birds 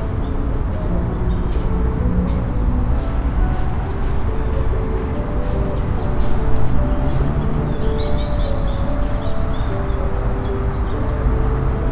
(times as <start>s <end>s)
4.8s 11.2s